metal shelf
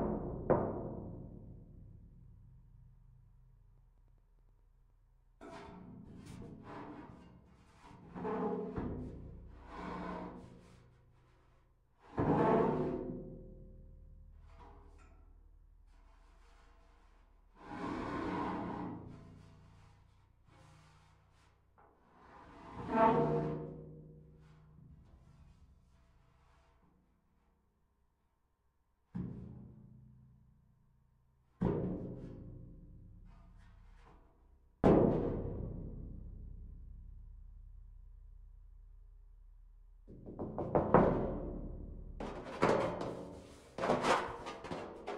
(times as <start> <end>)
42.2 45.1